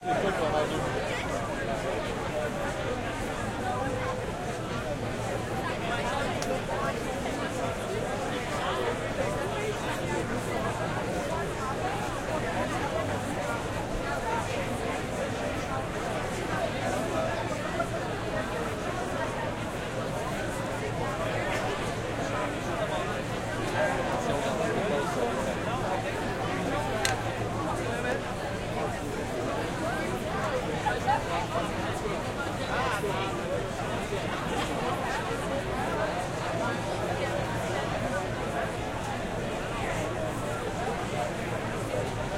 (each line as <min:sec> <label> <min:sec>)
0:00.0 Busy outdoor crowd talking and laughing 0:42.3